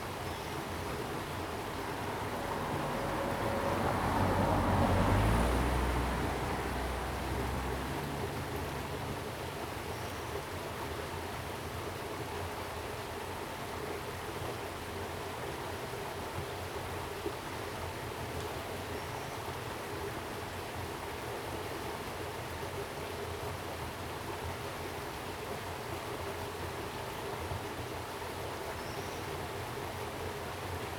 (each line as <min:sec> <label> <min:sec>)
0:00.0 stream 0:30.9